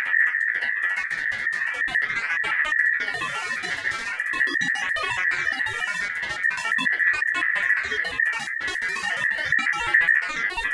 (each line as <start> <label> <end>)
0.7 Glitched Oscillations 10.7